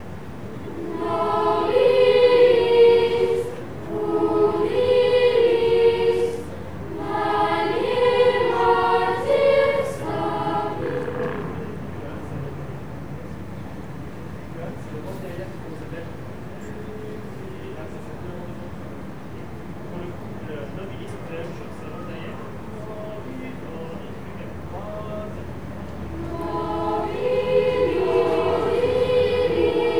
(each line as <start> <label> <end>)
0.0 children's choir 12.0
26.0 children's choir 29.9